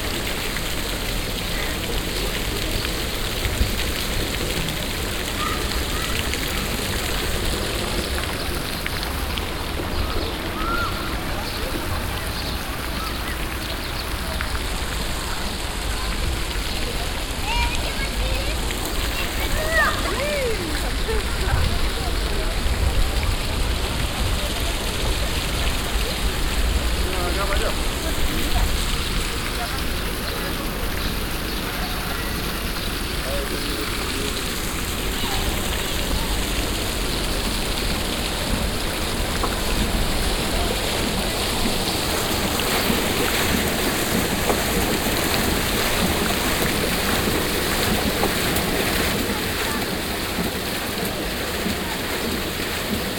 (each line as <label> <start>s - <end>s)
art fountain with moving objects 0.0s - 53.1s
people 0.1s - 53.1s